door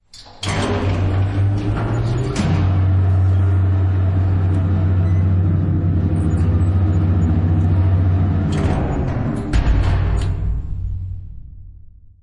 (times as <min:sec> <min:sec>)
0:08.0 0:10.8